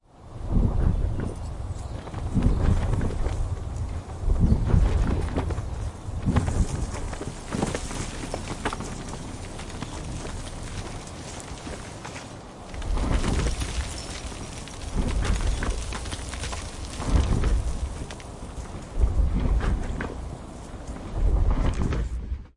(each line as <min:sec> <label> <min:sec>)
0:00.6 Horse Gallop 0:22.3